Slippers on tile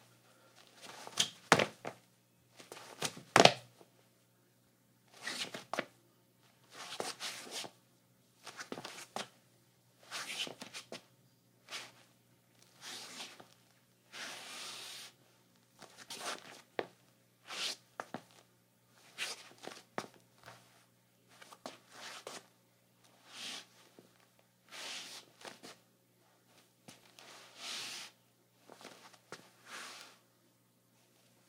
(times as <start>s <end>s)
0.6s 2.0s, 2.6s 3.6s, 5.1s 5.9s, 6.7s 7.8s, 8.4s 9.3s, 10.0s 11.0s, 12.7s 15.2s, 15.8s 16.9s, 17.5s 18.4s, 19.1s 25.8s, 26.6s 30.2s